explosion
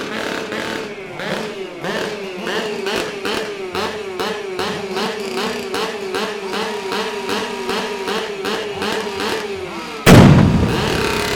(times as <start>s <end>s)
10.1s 11.3s